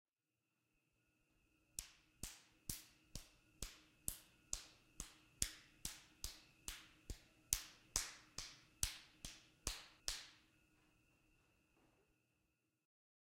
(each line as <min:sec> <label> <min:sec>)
0:01.8 slapping my right hand against the top of my left hand 0:10.4